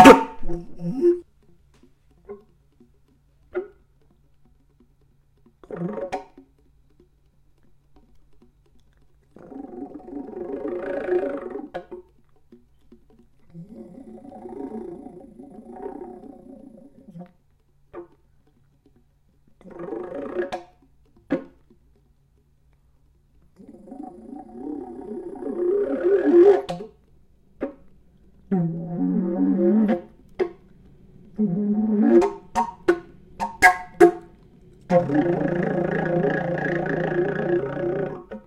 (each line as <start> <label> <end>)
0.0 noise made with air pressure into open alt flute 1.3
9.4 noise made with air pressure into open alt flute 12.0
23.6 noise made with air pressure into open alt flute 38.4